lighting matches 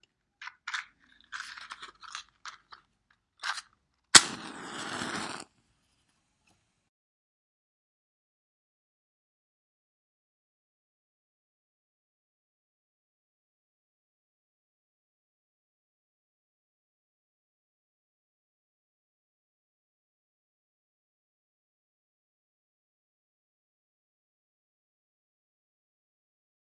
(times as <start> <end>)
0.5 5.5